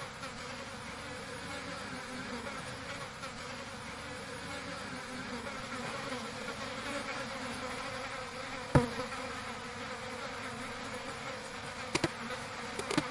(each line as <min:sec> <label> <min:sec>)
0:00.0 bees 0:13.1